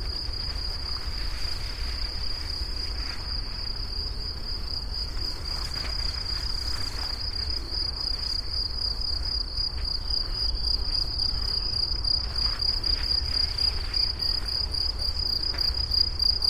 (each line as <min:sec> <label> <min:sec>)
0:00.0 butterflies 0:16.4
0:00.0 crickets 0:16.4
0:00.0 dragonflies 0:16.4
0:00.0 flies 0:16.4
0:00.0 wind 0:16.4